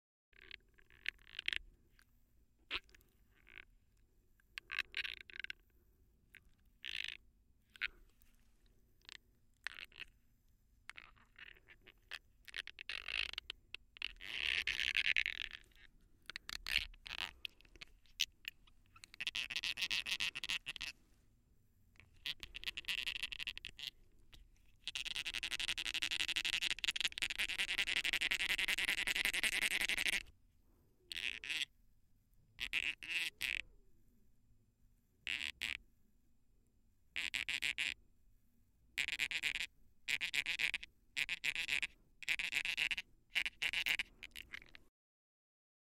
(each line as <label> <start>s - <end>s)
lower range squeaks as the pacifier scrapes across teeth 14.0s - 15.9s
lower range squeaks as the pacifier scrapes across teeth 16.5s - 21.0s
lower range squeaks as the pacifier scrapes across teeth 24.7s - 30.3s
lower range squeaks as the pacifier scrapes across teeth 39.0s - 44.8s